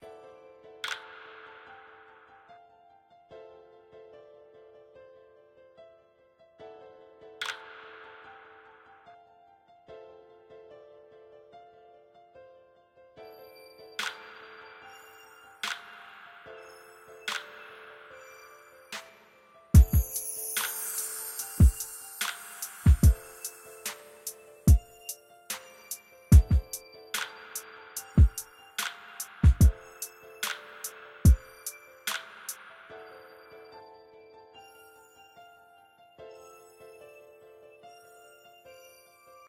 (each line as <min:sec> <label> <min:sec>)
0:00.0 piano 0:39.4
0:00.8 snare 0:02.0
0:07.4 snare 0:08.7
0:14.0 snare 0:15.0
0:15.6 snare 0:16.6
0:17.2 snare 0:18.2
0:18.9 snare 0:33.2